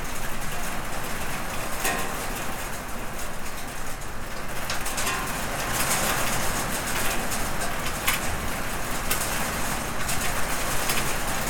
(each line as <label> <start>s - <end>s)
hail stones striking an iron roof with metal flues 0.0s - 11.4s